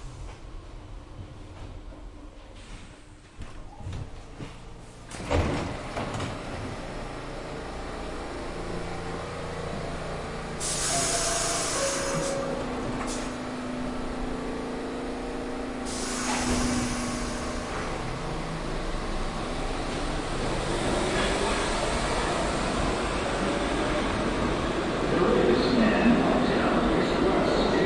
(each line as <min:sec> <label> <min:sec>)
0:04.8 1-Train arrives 0:27.8
0:04.8 subway announcement 0:27.8
0:25.0 Spanish announcement 0:27.8